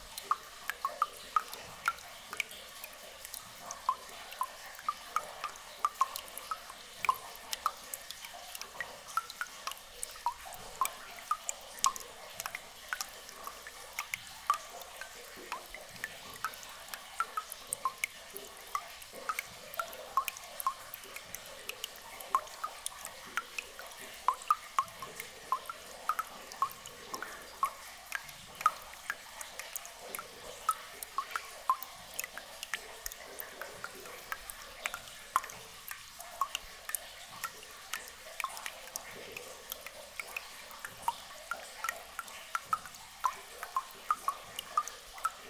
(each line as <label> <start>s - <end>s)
soft water flowing from everywhere 0.0s - 45.4s